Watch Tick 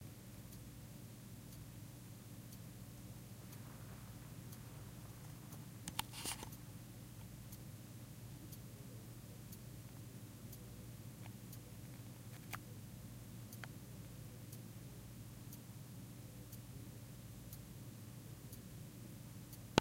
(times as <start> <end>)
1.4 1.8, 19.5 19.8